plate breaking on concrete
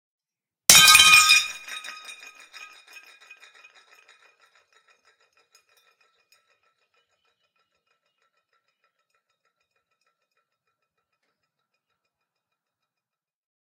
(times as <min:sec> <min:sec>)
0:00.7 0:06.5